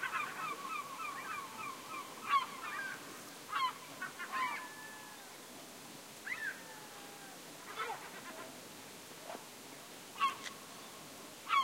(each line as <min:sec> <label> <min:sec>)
0:00.0 seagulls screeching at some distance 0:05.3
0:00.0 ocean 0:08.6
0:06.2 seagulls screeching at some distance 0:07.1
0:09.2 ocean 0:11.6
0:10.2 seagulls screeching at some distance 0:10.5